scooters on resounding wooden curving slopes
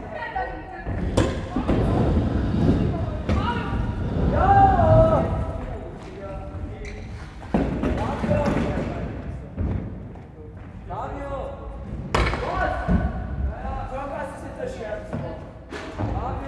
0.9s 6.7s

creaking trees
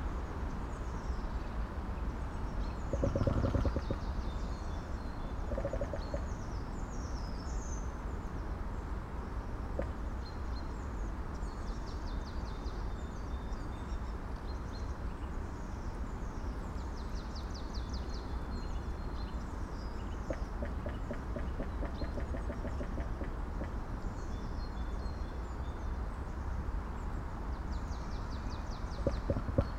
29.0s 29.7s

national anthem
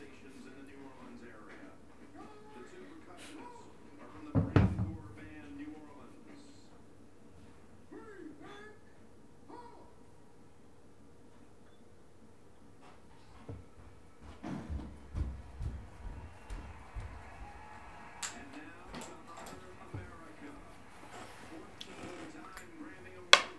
15.7s 23.5s

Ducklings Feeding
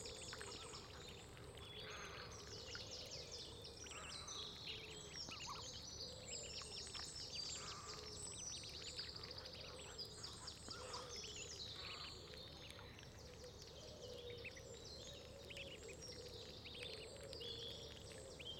3.8s 5.7s, 6.5s 14.6s, 15.2s 18.5s

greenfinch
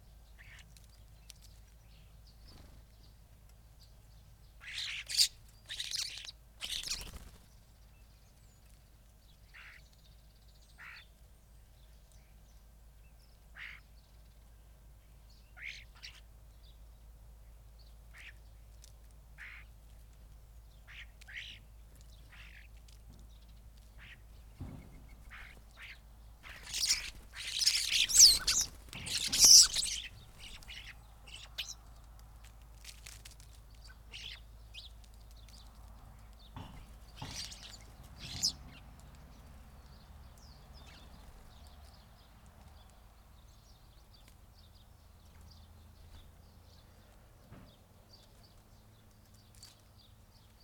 4.6s 7.4s, 24.0s 32.0s, 36.5s 42.0s

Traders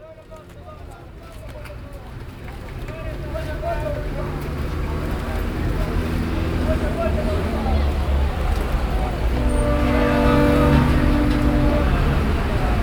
9.4s 12.8s

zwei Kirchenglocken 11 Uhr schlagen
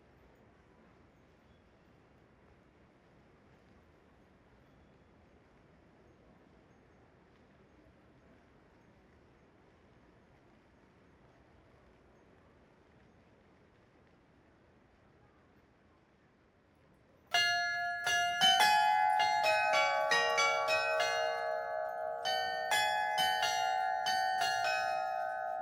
17.4s 25.6s

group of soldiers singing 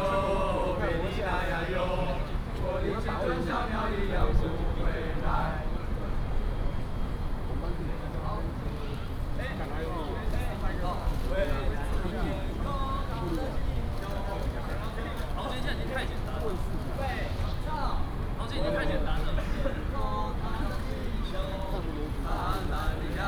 0.0s 2.4s

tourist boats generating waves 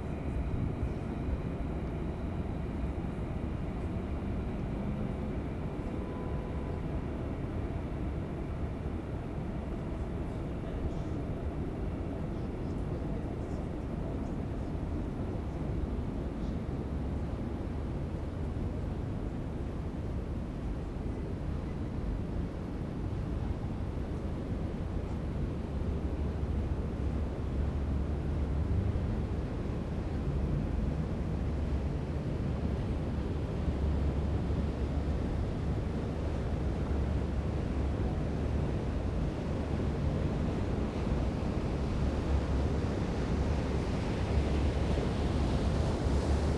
26.2s 46.5s

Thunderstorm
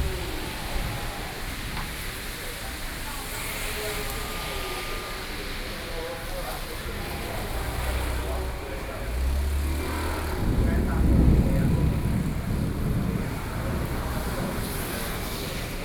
0.0s 2.7s, 8.4s 15.8s

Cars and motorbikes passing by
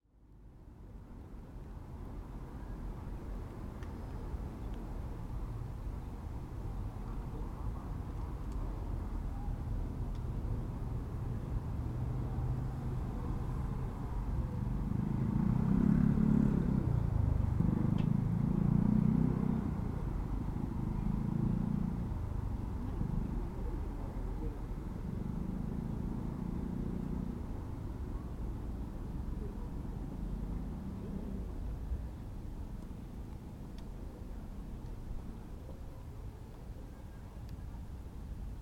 8.9s 36.1s

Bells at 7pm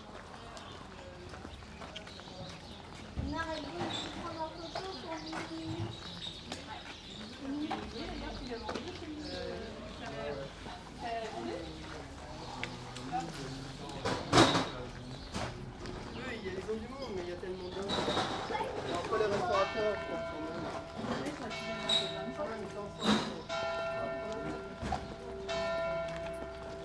19.2s 26.8s

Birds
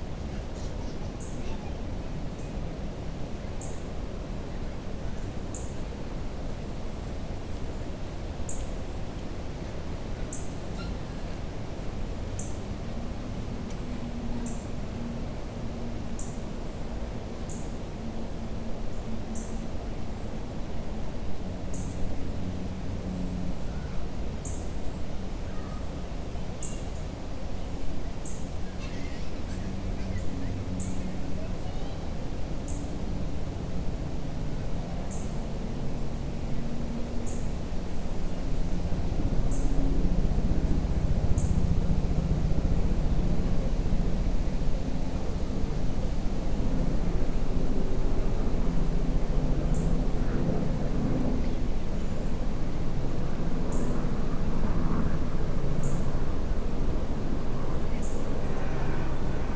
10.2s 11.4s, 28.2s 32.0s

